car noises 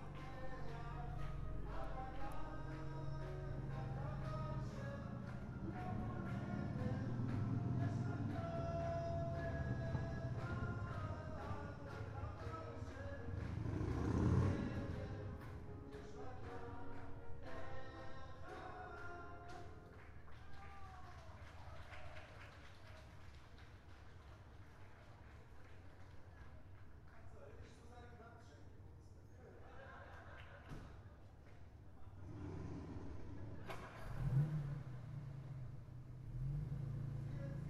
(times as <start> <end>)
0.0 18.6, 32.0 37.6